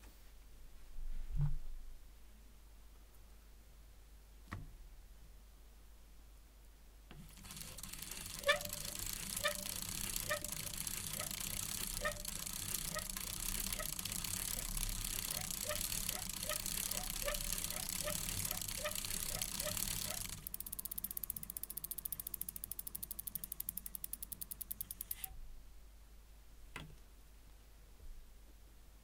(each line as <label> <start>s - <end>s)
wheels 7.1s - 25.3s
bicycle 7.1s - 25.4s
brakes 7.2s - 25.3s
chain 7.3s - 25.3s